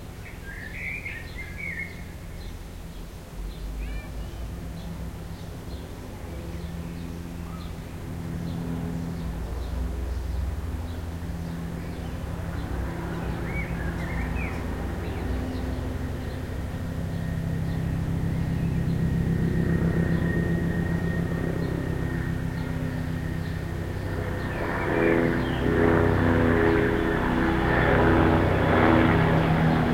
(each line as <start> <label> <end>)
0.0 airplane 29.9
0.0 helicopter passes 29.9
0.2 blackbird sings 2.5
1.6 street noise 20.0